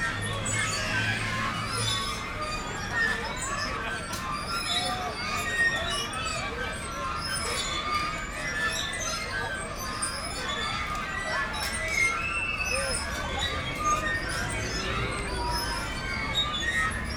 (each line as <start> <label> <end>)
0.0 heavy traffic 5.6
0.0 kids enjoying the squeaking swings 17.1
0.0 squeaking swings 17.1
10.9 heavy traffic 17.1